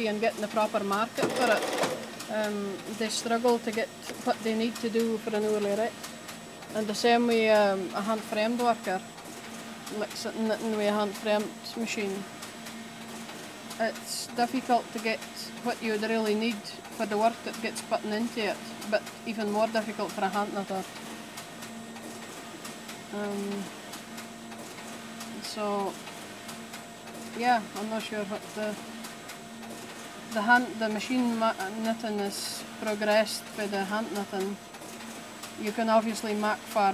shima machine churns on 1.0 - 2.9

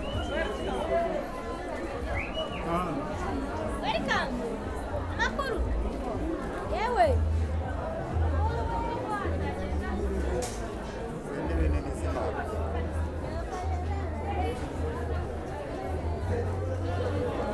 voices 0.0 - 17.5

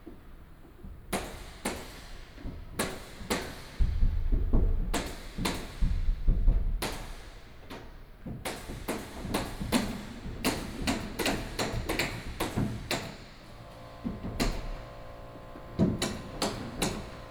Wood Construction 10.9 - 17.3

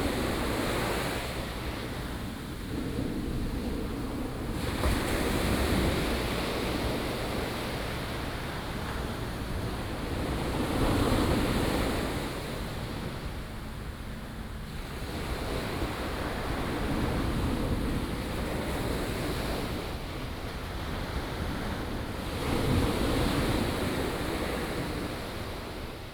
waves 0.0 - 26.1

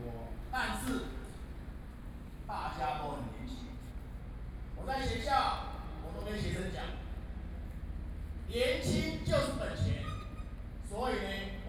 professionals are speeches 0.0 - 1.5
professionals are speeches 2.4 - 7.5
professionals are speeches 8.5 - 11.6

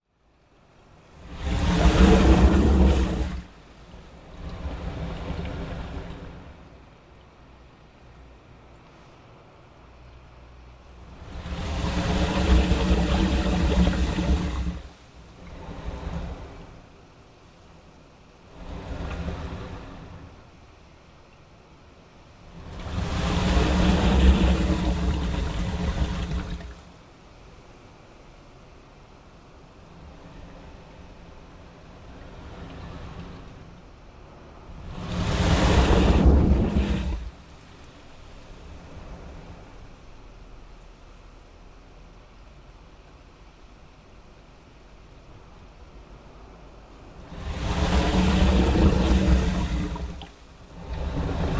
wave action under a crude concrete wharf 0.0 - 51.5

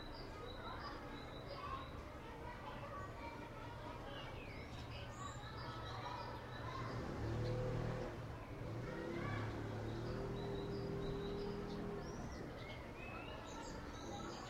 blackbirds 0.0 - 2.0
Elementary school recess 0.0 - 14.4
sparrows 0.0 - 14.4
blackbirds 3.9 - 14.4
passing traffic 6.4 - 13.0

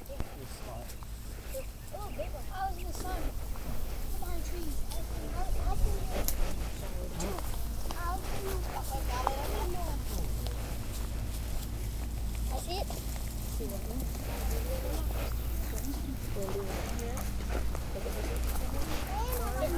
Birds 0.0 - 19.7
Family picking blueberries 0.0 - 19.7
airplane traffic 0.0 - 19.7
kids 0.0 - 19.7
people talking 0.0 - 19.7
cicadas 0.0 - 13.6

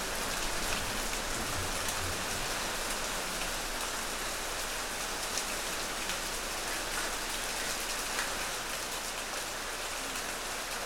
Heavy rain 0.0 - 10.8

